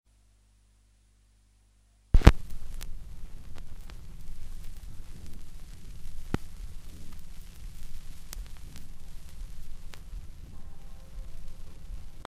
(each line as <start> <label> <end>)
0.1 rumbles and clicks at the start of a record 12.2
2.2 Record needle (stylus) lands on the record 3.9